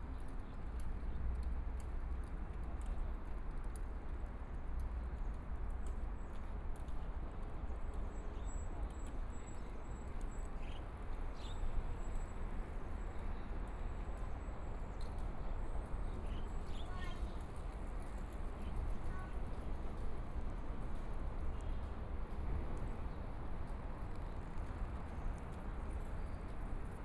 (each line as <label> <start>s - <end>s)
Pedestrian 7.8s - 27.0s
Walking along the river 16.6s - 27.0s
people riding bicycles through 18.7s - 27.0s
Traffic Sound 20.4s - 27.0s